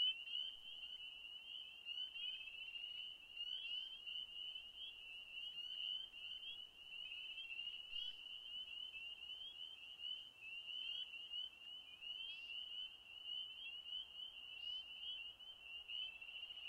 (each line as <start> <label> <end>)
0.0 Frogs calling 16.6